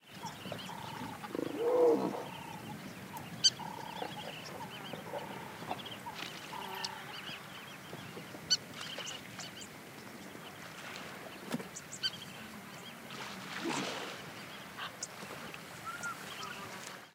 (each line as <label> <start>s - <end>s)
birds 0.0s - 17.1s
wildebeest 3.4s - 7.4s